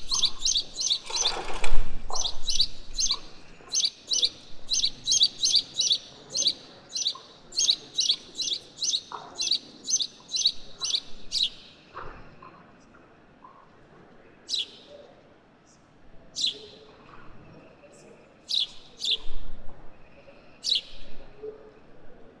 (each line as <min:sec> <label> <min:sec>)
0:00.0 Noisy sparrows 0:22.4